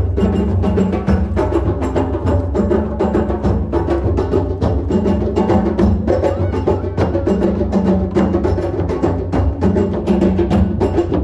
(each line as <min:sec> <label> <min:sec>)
0:00.0 drums 0:11.2